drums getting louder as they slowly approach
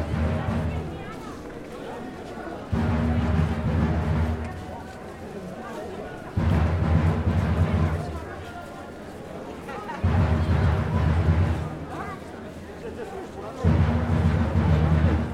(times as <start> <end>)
0.0 1.5, 2.6 5.3, 6.2 8.6, 9.7 12.3, 13.4 15.3